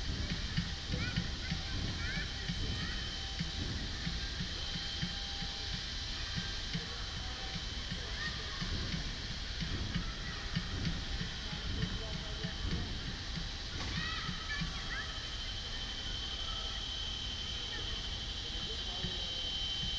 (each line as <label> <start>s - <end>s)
construction work 0.0s - 19.9s